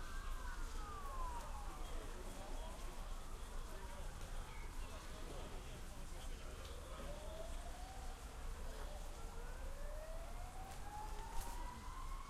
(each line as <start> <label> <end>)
0.0 police 12.2